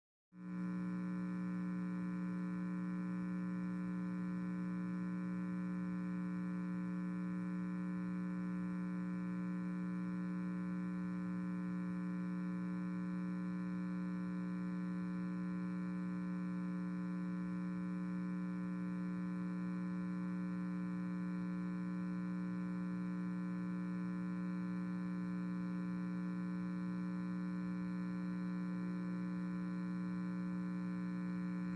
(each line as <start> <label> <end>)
0.4 Speaker Buzz 31.7